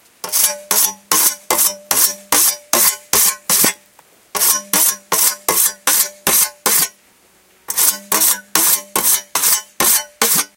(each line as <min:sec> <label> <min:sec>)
0:00.0 hiss in the background is rain 0:10.5
0:00.2 scythe sharpening 0:03.8
0:04.4 scythe sharpening 0:06.9
0:07.7 scythe sharpening 0:10.5